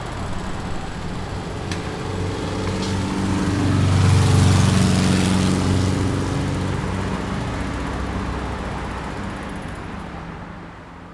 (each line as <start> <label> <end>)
0.0 Building Site 11.1